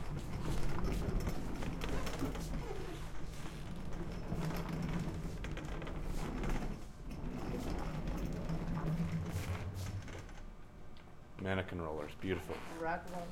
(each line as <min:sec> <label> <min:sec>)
0:00.0 her machines 0:10.4
0:00.0 Rack Rollers 0:10.5